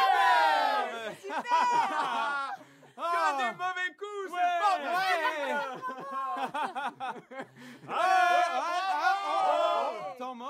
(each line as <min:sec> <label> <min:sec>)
0:00.0 crowd cheering at a sporting event 0:03.6
0:04.4 crowd cheering at a sporting event 0:06.8
0:07.9 crowd cheering at a sporting event 0:10.4